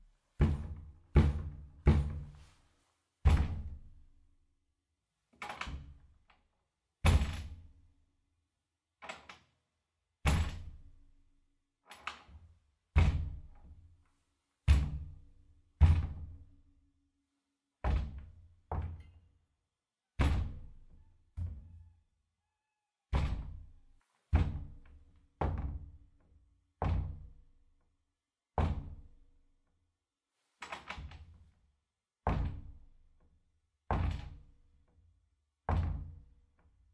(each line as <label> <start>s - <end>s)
Soft knocking on a big wooden door 0.2s - 2.4s
Soft knocking on a big wooden door 3.3s - 3.9s
Soft knocking on a big wooden door 17.9s - 19.2s
Soft knocking on a big wooden door 23.2s - 27.4s
Soft knocking on a big wooden door 32.3s - 32.8s
Soft knocking on a big wooden door 35.7s - 36.3s